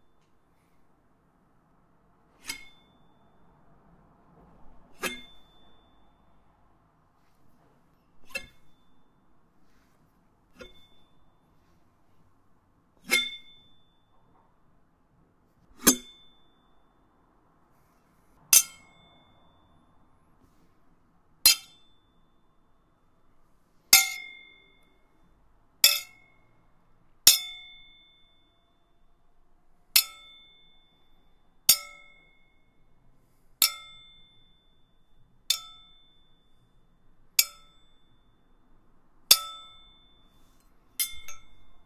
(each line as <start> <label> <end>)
5.0 ringing my sharp breadknife against a chair leg 5.9
8.2 ringing my sharp breadknife against a chair leg 9.0
13.0 ringing my sharp breadknife against a chair leg 13.9
24.0 ringing my sharp breadknife against a chair leg 24.6
25.8 ringing my sharp breadknife against a chair leg 26.3
31.7 ringing my sharp breadknife against a chair leg 32.3
33.6 ringing my sharp breadknife against a chair leg 34.4
35.5 ringing my sharp breadknife against a chair leg 36.0
37.4 ringing my sharp breadknife against a chair leg 38.0
39.3 ringing my sharp breadknife against a chair leg 41.6